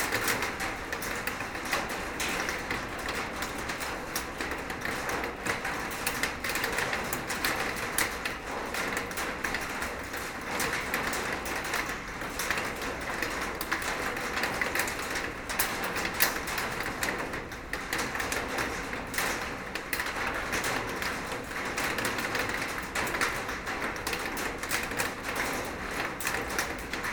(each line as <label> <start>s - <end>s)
rain is falling on a huge metal plate 0.0s - 27.1s